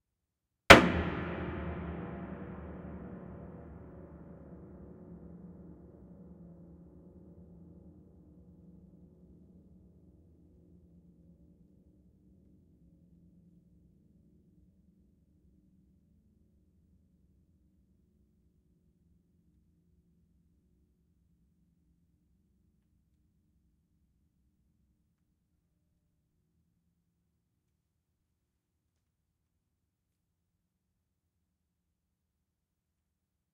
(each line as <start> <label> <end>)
0.7 SHARP HAMMER STRIKE 5.1